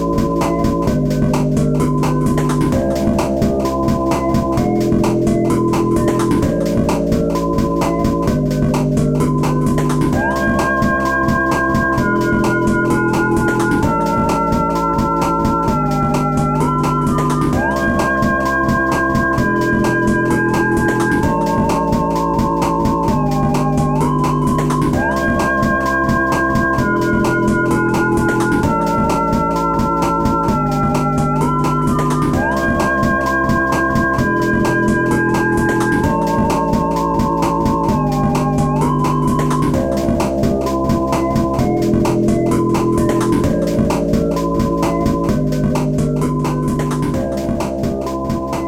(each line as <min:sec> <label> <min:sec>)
0:00.0 chiptune 0:48.6